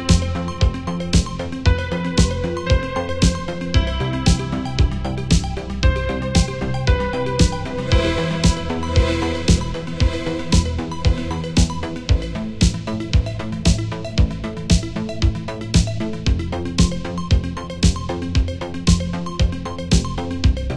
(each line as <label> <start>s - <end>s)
guitar 0.0s - 14.4s
synth bass 0.0s - 20.7s